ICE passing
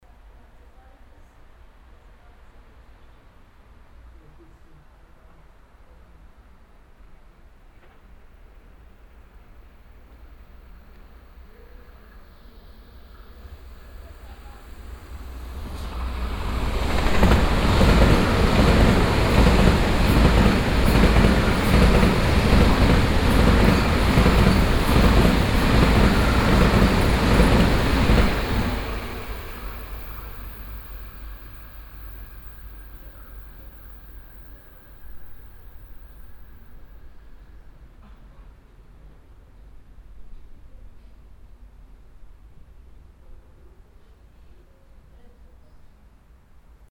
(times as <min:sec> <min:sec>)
0:13.0 0:32.4